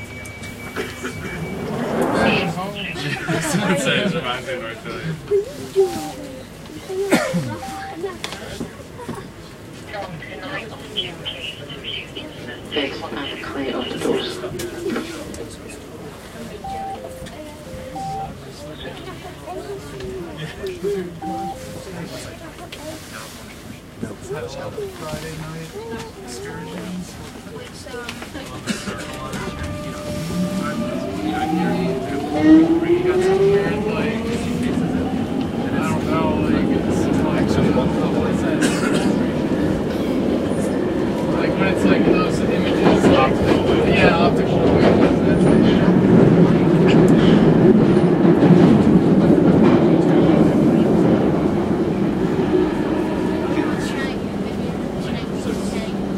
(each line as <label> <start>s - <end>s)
Train arrives and leaves station 0.0s - 56.1s
people 0.0s - 56.1s
'stand clear' announcement 10.2s - 19.9s
'stand clear' announcement 20.6s - 23.3s